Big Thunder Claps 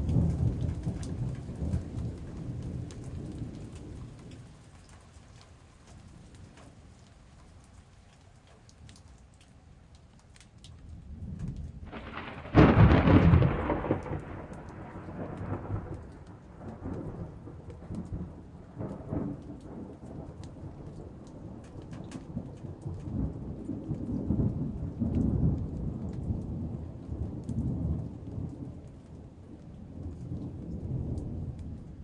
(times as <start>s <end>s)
0.0s 4.4s, 11.4s 28.8s